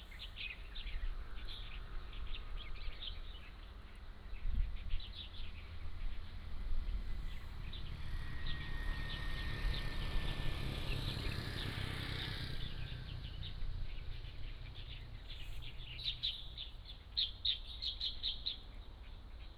Birdsong 0:00.0 - 0:19.5
Traffic Sound 0:05.1 - 0:17.5

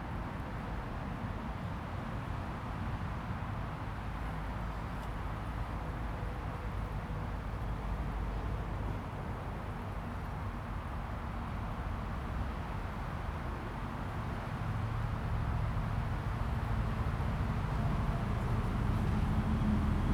Traffic sound 0:17.2 - 0:20.1

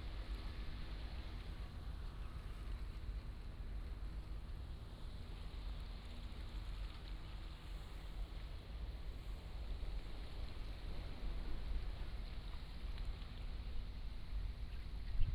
Fishing boat on the sea 0:00.0 - 0:15.3

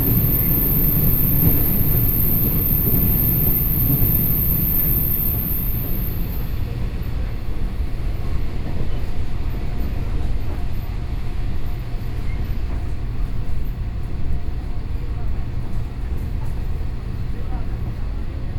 On the train 0:00.0 - 0:18.5

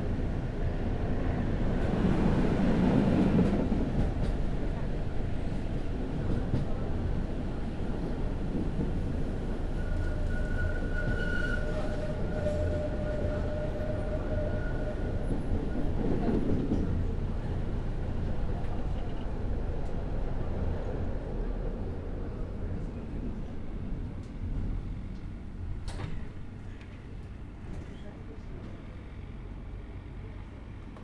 trams slow down here and take several strong turns 0:00.0 - 0:31.0

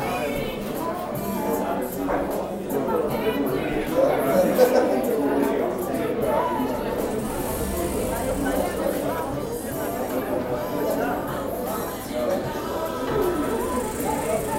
music 0:00.0 - 0:14.5
people talking & laughing 0:00.0 - 0:14.5
the strange, repeated noise is the automatic door 0:06.7 - 0:10.3
the strange, repeated noise is the automatic door 0:12.9 - 0:14.5

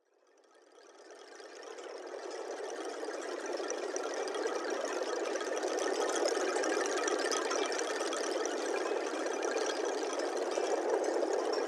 Long straps tensioned and across the wind 0:00.6 - 0:11.6

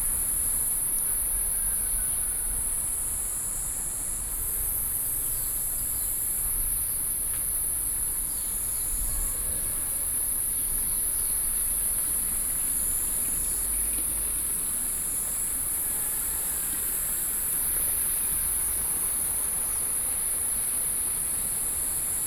Insects sounds 0:00.0 - 0:22.2
Walking along the stream 0:09.6 - 0:22.2

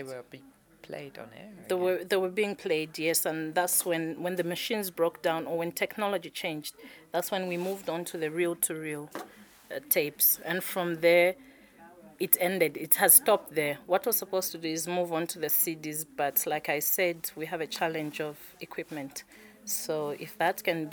conversations 0:00.0 - 0:20.9

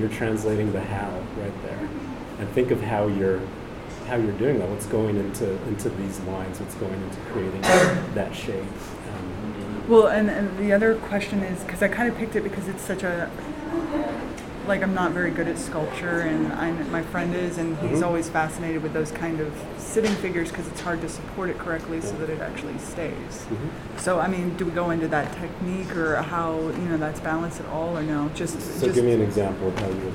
teacher speaking to a student 0:17.8 - 0:18.2
teacher speaking to a student 0:21.9 - 0:22.4

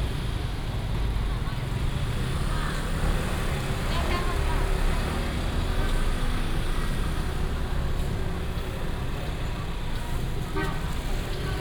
Walking in the traditional market 0:00.0 - 0:11.6

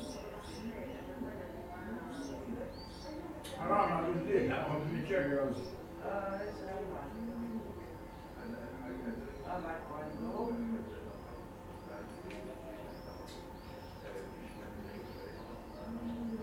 talk 0:00.0 - 0:16.4

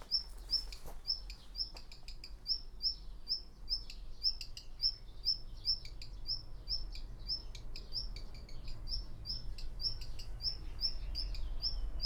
walking around 0:00.0 - 0:02.0

